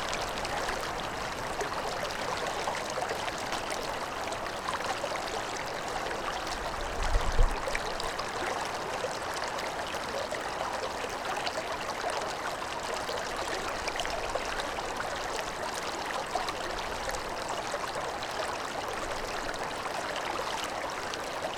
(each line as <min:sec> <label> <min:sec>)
0:00.0 slow water 0:21.5